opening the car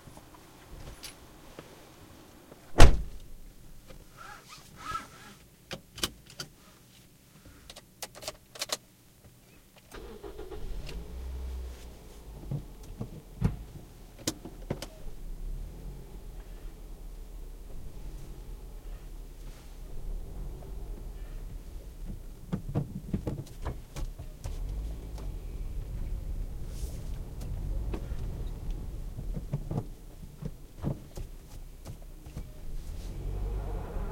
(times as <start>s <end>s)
2.7s 3.2s, 9.9s 15.2s